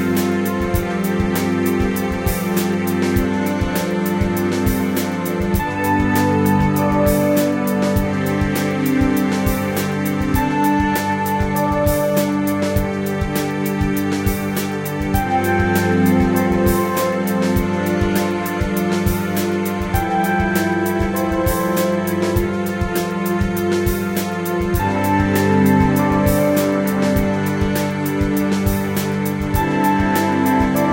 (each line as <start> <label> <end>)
0.0 simple electronic motives 30.9
0.0 strings 30.9